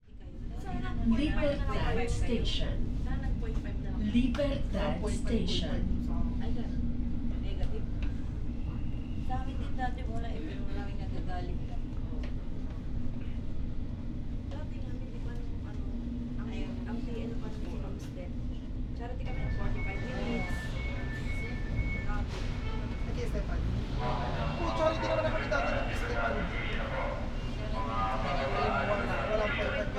passengers chatting 0.0 - 29.9
train 0.0 - 29.9
voices announcements 4.0 - 6.1
voices announcements 19.1 - 29.9

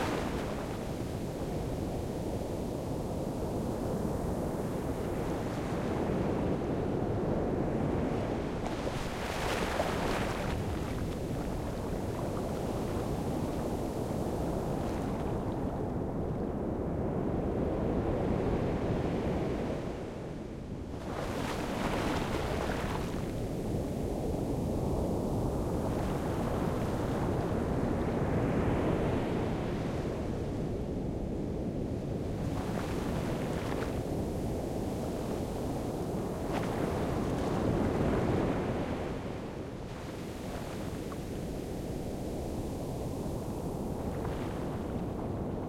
Waves break 0.0 - 6.6
Waves break 8.0 - 15.7
Waves break 21.0 - 24.0
Waves break 32.2 - 45.6

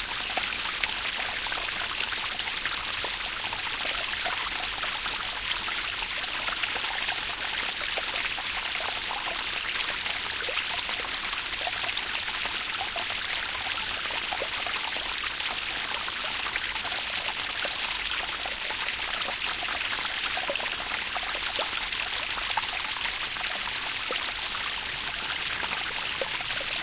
waterfall 0.0 - 26.8

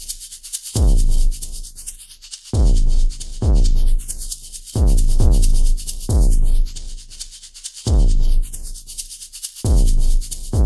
bass 0.0 - 10.6
drum 0.8 - 1.7
drum 2.6 - 7.2
drum 7.9 - 8.8
drum 9.6 - 10.6

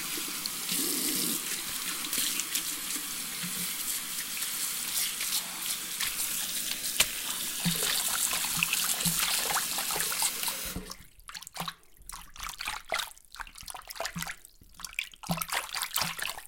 drain 0.0 - 16.4
dripping 0.0 - 16.4
sink water washing splishing splashing 0.0 - 16.4

